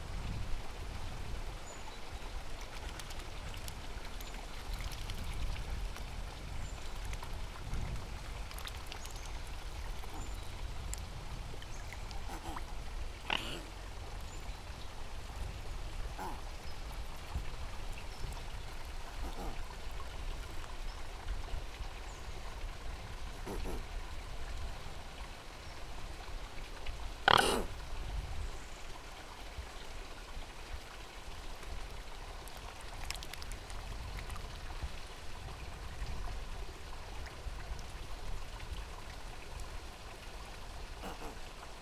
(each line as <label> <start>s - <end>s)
splashing about a bit 2.1s - 24.0s
two white swans snorting and grunting 10.0s - 10.4s
two white swans snorting and grunting 12.2s - 13.9s
two white swans snorting and grunting 16.0s - 16.6s
two white swans snorting and grunting 19.0s - 19.7s
two white swans snorting and grunting 23.4s - 23.9s
two white swans snorting and grunting 27.3s - 27.8s
splashing about a bit 31.6s - 34.6s
two white swans snorting and grunting 41.0s - 41.6s